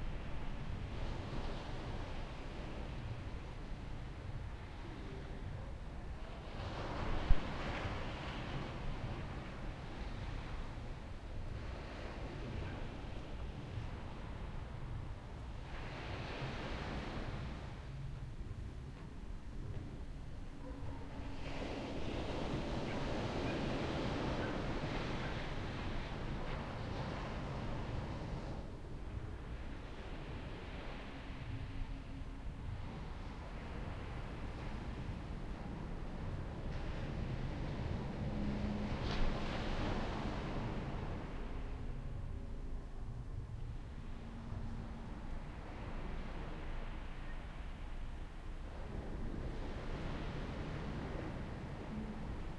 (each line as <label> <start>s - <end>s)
waves 0.0s - 52.5s
occasional distant dog bark 20.6s - 21.4s